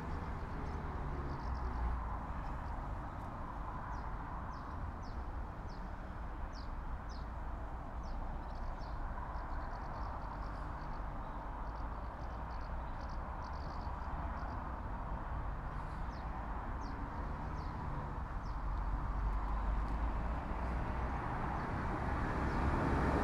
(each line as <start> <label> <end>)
13.3 cars going over crossing 23.2